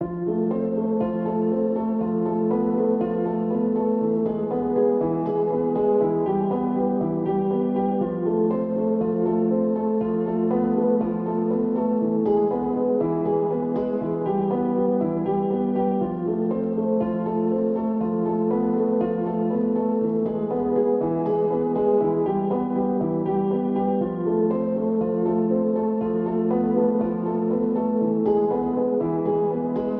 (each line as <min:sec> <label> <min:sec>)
0:00.0 piano 0:29.9